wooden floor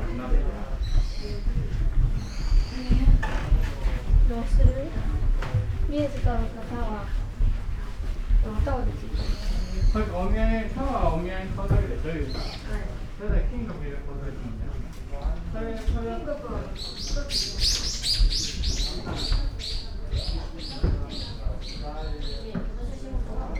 0.8 10.8, 18.0 23.5

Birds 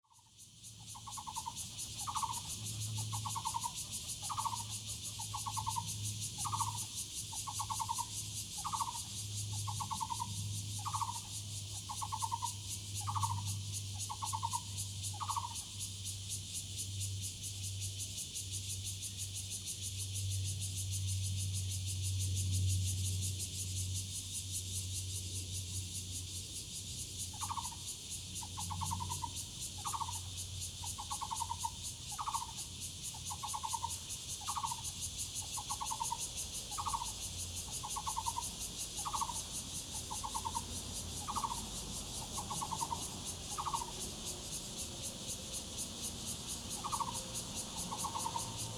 0.9 15.7, 27.3 27.8, 28.4 48.7

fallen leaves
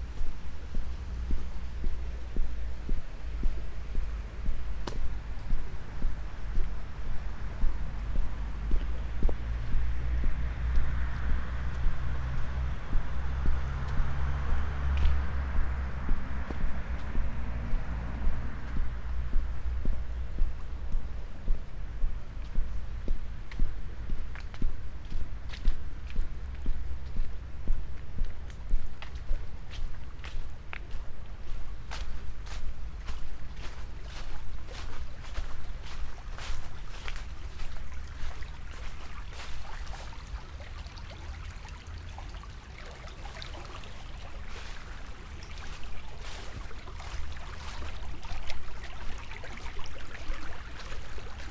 31.9 51.5

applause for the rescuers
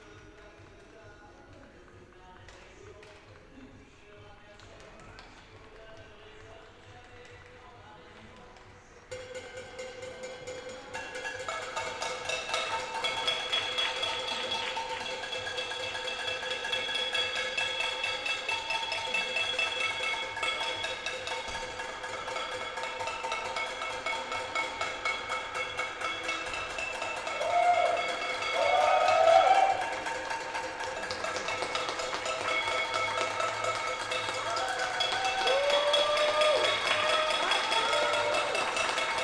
26.8 39.2

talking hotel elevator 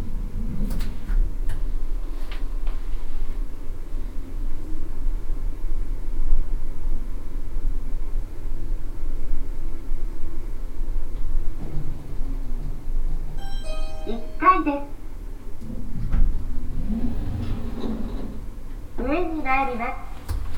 11.9 20.5

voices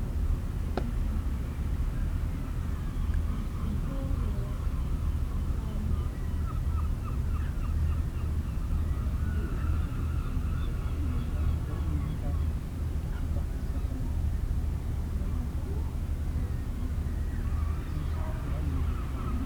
15.2 19.4

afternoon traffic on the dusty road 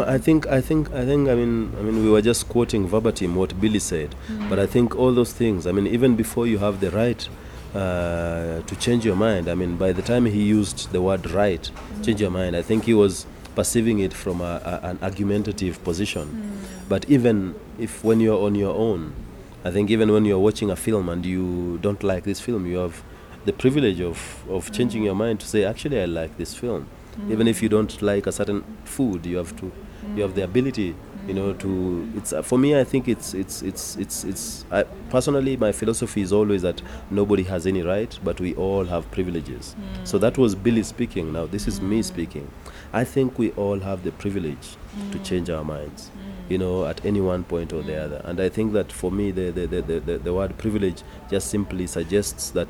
46.8 52.6

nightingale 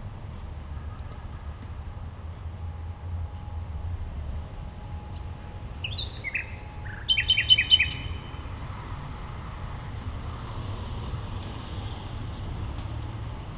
5.7 8.4

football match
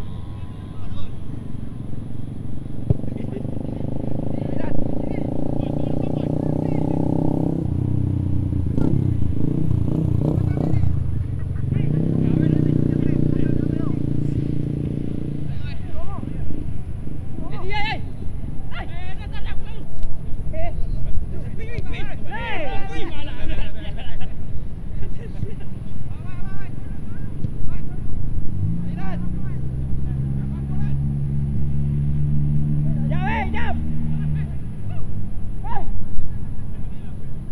0.0 3.4, 13.0 31.8

